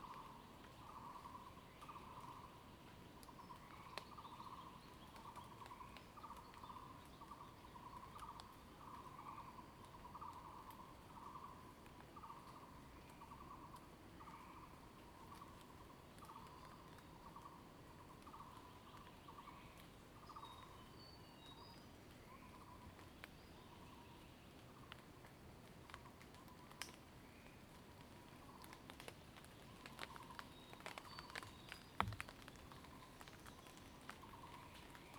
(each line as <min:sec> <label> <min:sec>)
0:00.0 Water droplets fall foliage 0:35.1
0:00.0 Bird sounds 0:25.0
0:03.2 Frogs chirping 0:21.7
0:25.9 Bird sounds 0:35.1
0:28.4 Frogs chirping 0:35.1